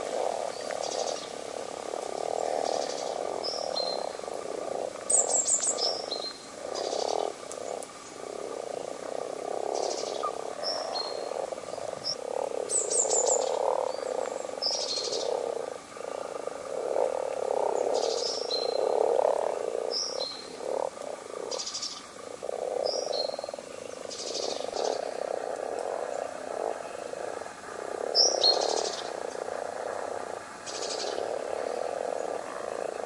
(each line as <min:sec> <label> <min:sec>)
0:00.0 constant soft purring-croak of the frogs 0:33.0
0:02.2 birdsong 0:09.0
0:09.6 birdsong 0:20.8
0:21.4 birdsong 0:27.2
0:28.0 birdsong 0:29.5
0:30.6 birdsong 0:33.0